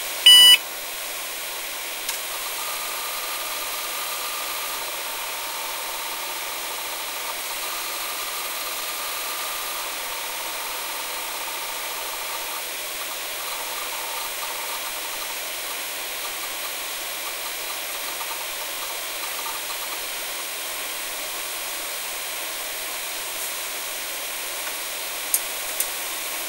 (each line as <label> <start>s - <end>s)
computer powering on 0.3s - 0.6s